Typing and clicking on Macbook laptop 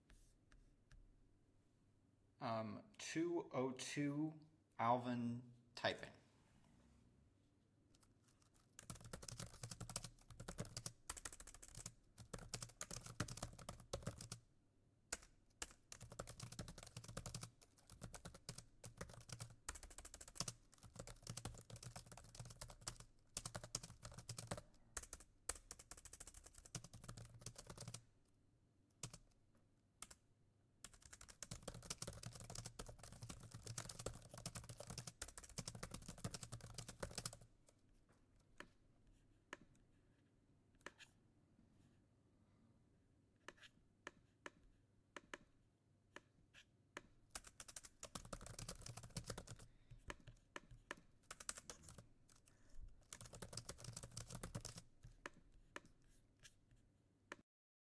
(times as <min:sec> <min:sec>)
0:07.9 0:14.4, 0:15.1 0:28.1, 0:28.9 0:29.4, 0:30.0 0:30.2, 0:30.8 0:37.8, 0:43.4 0:45.5, 0:46.9 0:57.4